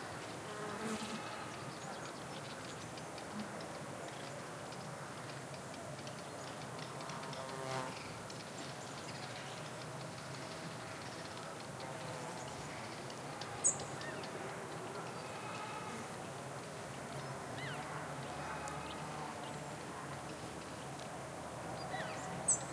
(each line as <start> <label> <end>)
0.0 insects 22.7
0.7 goats bleating at some distance inside a reverberant canyon 1.8
15.0 goats bleating at some distance inside a reverberant canyon 16.3
17.6 goats bleating at some distance inside a reverberant canyon 19.4